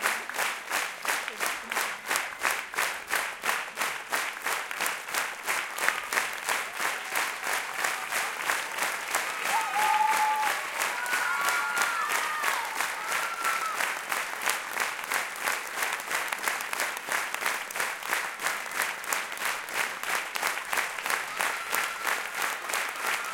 Enthusiastic audience cheering 5.7 - 14.2
Enthusiastic audience cheering 20.4 - 23.3

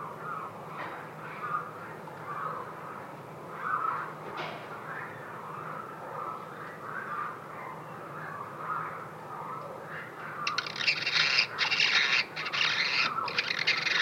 Annas Hummingbird 9.4 - 14.0

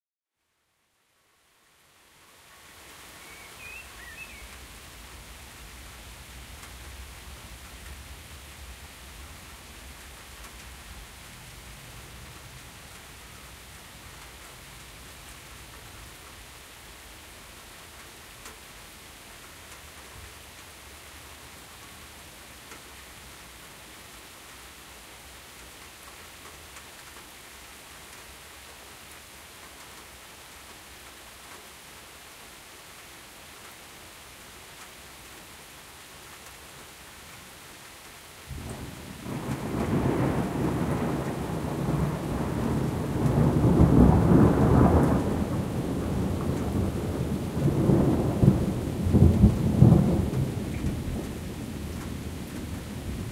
light rain 0.3 - 53.3
birds chirping 3.2 - 4.6
distant rumbling thunder 38.5 - 53.3

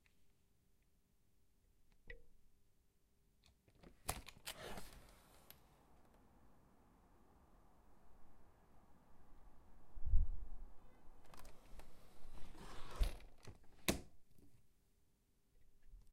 pvc double glazed window opening and closing 3.7 - 5.3
pvc double glazed window opening and closing 11.1 - 14.3

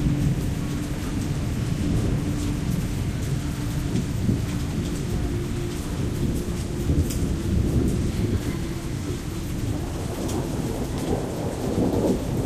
rain 0.0 - 12.4
thunder 0.0 - 12.4

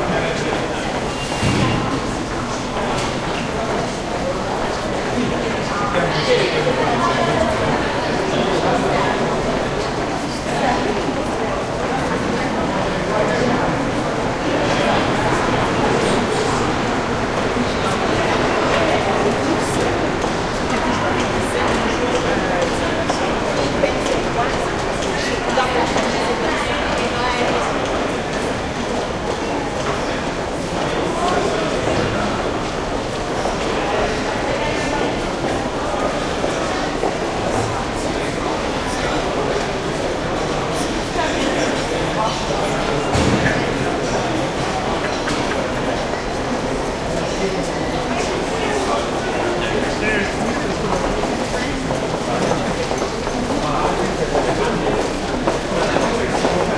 medium crowd busy footsteps echo 0.0 - 56.7
metro subway 0.0 - 56.7

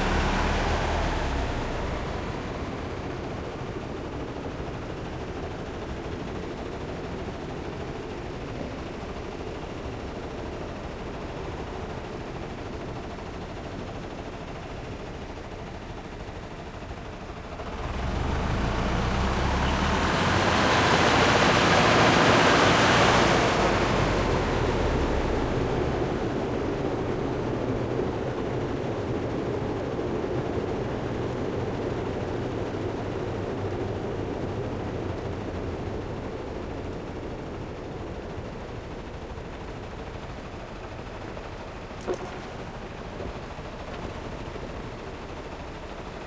Slo Motion Diesel Jeep 0.0 - 13.6
Slo Motion Diesel Jeep 14.4 - 28.3
Slo Motion Diesel Jeep 31.4 - 46.2

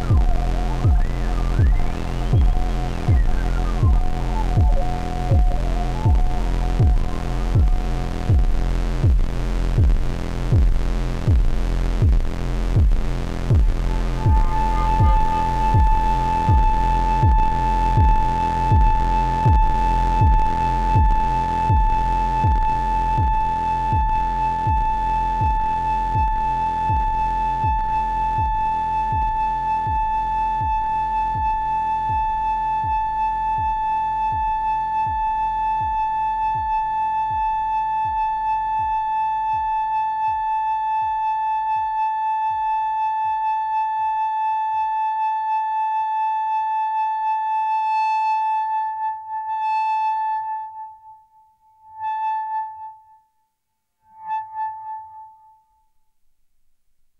feedbacks 0.0 - 23.3
Drone 0.0 - 43.4

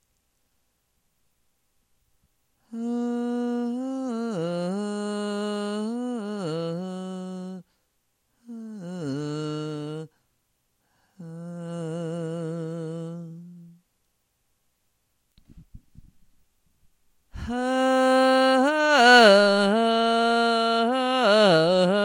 vocals 2.6 - 7.8
vocals 8.4 - 10.2
vocals 10.9 - 13.9
vocals 17.3 - 22.0

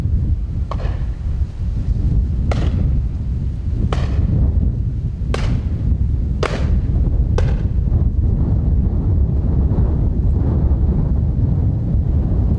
windy 0.0 - 12.5
shotgun 2.5 - 2.9
shotgun 3.9 - 4.3
shotgun 5.4 - 5.8
shotgun 6.4 - 6.8
shotgun 7.4 - 7.8

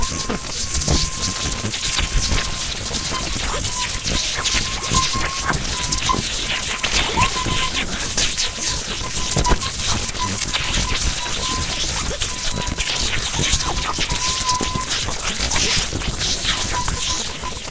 Low Electricity crackling 0.0 - 17.4

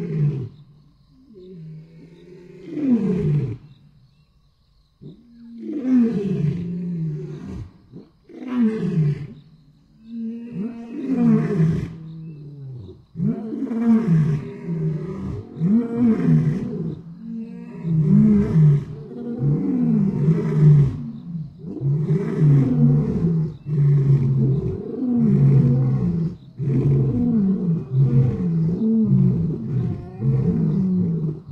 Male lions roaring 10.2 - 31.5

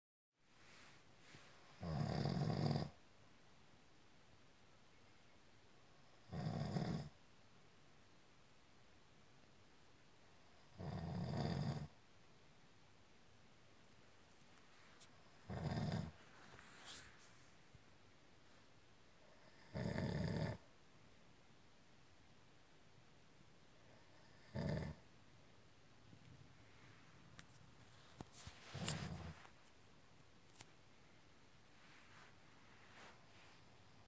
Snoring sounds 1.8 - 3.0
Snoring sounds 6.2 - 7.2
Snoring sounds 10.7 - 11.9
Snoring sounds 15.5 - 16.2
Snoring sounds 19.4 - 20.6
Snoring sounds 23.9 - 25.0

